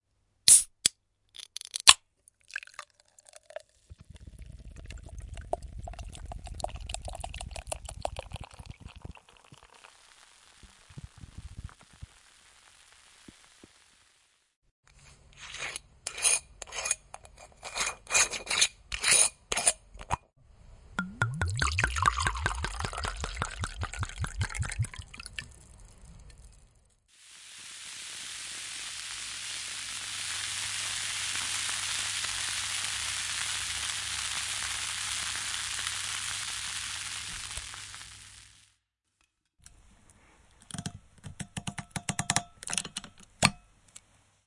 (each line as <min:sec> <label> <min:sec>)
0:00.5 can 0:13.9
0:01.8 cork 0:10.0
0:02.2 pouring 0:14.0
0:02.4 fizz 0:14.6
0:21.0 cork 0:26.5
0:21.0 can 0:26.7
0:21.0 fizz 0:38.8
0:21.2 pouring 0:38.6
0:27.3 can 0:38.6